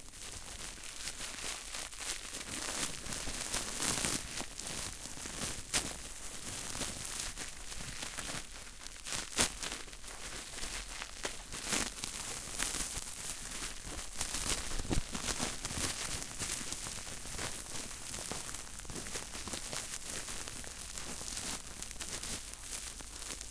0.0s crinkling bubble wrap 23.5s

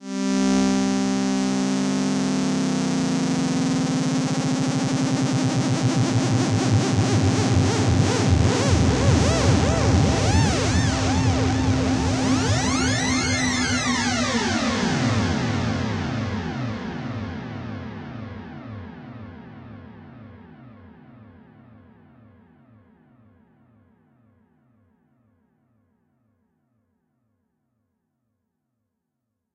6.3s oscillators 16.4s

